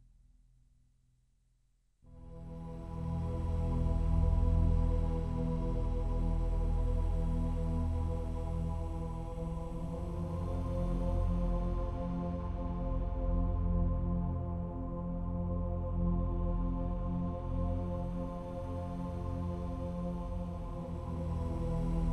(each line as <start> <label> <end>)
2.1 synthesizer 22.1